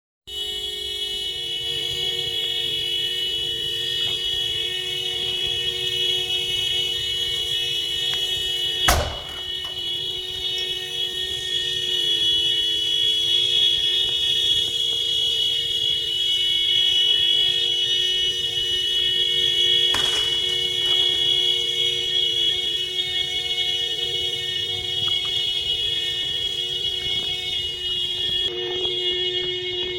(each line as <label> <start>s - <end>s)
continuous car horn that stops due to heat 0.3s - 29.9s
siren 0.3s - 29.9s
intense crackling flames 19.2s - 23.0s